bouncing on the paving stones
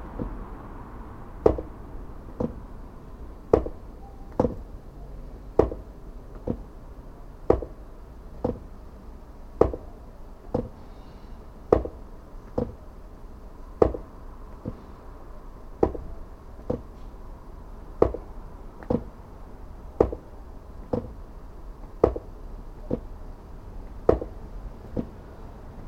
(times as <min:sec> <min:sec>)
0:00.1 0:00.4, 0:01.4 0:02.8, 0:03.5 0:04.8, 0:05.4 0:06.8, 0:07.4 0:08.8, 0:09.5 0:10.9, 0:11.7 0:13.0, 0:13.6 0:14.9, 0:15.8 0:17.2, 0:17.8 0:19.3, 0:19.9 0:25.2